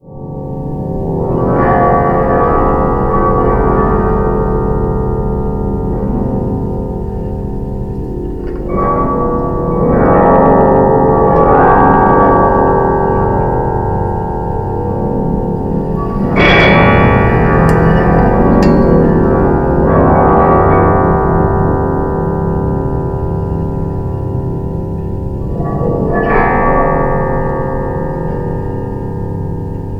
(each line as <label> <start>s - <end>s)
strings 12.6s - 29.9s